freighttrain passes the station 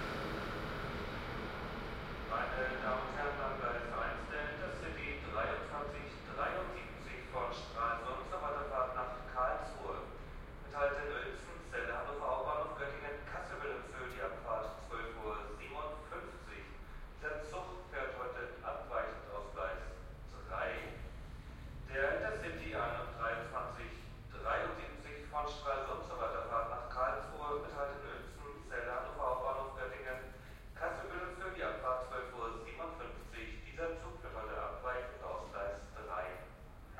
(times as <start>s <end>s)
0.0s 24.7s